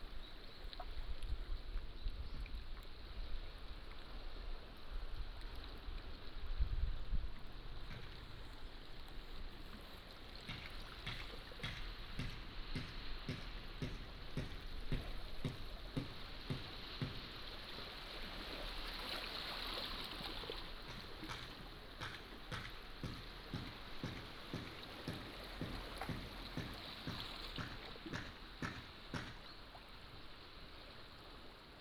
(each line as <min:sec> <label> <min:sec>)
0:00.0 Sound tide 0:31.8